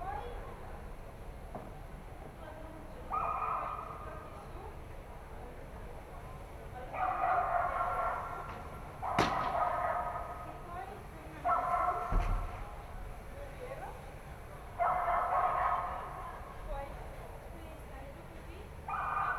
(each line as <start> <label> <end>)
3.1 dog 4.1
6.9 dog 10.5
11.4 dog 12.6
14.8 dog 16.4
18.9 dog 19.3